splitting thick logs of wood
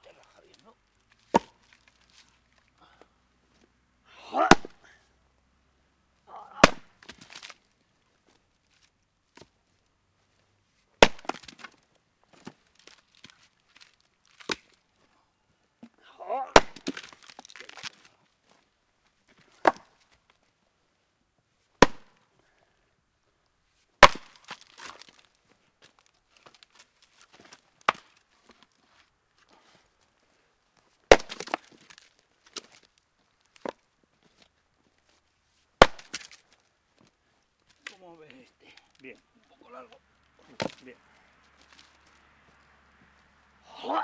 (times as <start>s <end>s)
0.2s 3.1s, 4.2s 5.0s, 6.3s 7.7s, 11.0s 14.8s, 15.8s 18.6s, 19.3s 20.2s, 21.8s 22.2s, 24.0s 30.0s, 31.0s 35.2s, 35.8s 42.2s